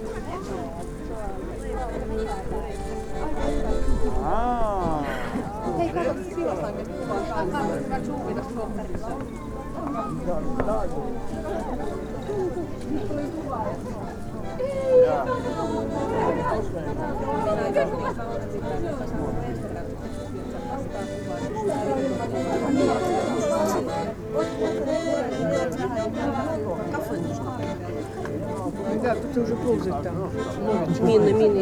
0.0s people 31.6s

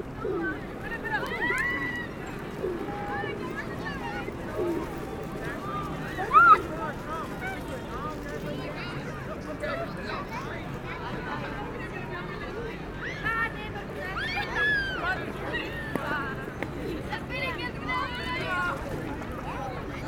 0.0s Tourists 20.0s
5.7s teenagers shouting 6.8s

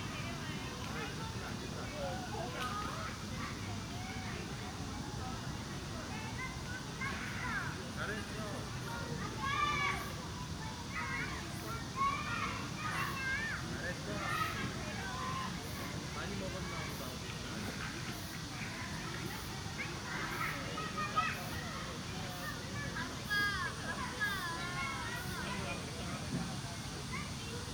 0.0s cicada 27.7s

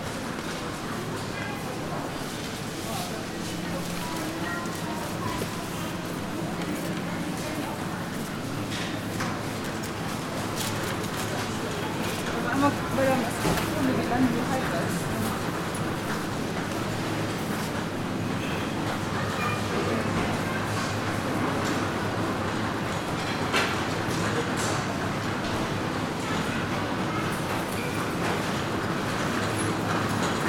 0.0s Walking though the aisles of a supermarket 30.4s
0.4s people 30.4s

